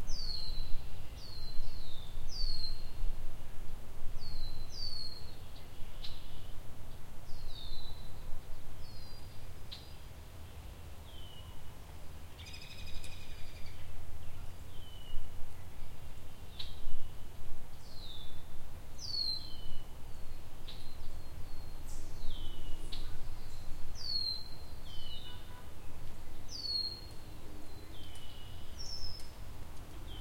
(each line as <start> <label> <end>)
0.0 spring bird songs 3.2
4.2 spring bird songs 30.2